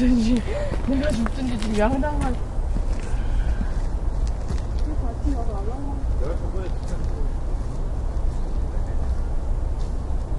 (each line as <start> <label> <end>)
0.0 people talking 2.4
0.2 footsteps 5.0
4.8 people talking 7.4